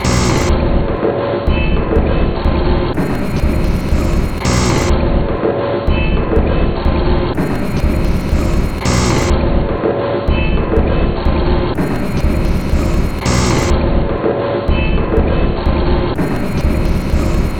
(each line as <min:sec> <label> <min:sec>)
0:00.0 Drum Loop 0:17.5